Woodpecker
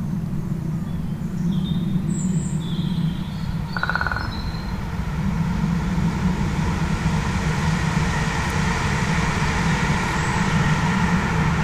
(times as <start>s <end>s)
3.7s 4.7s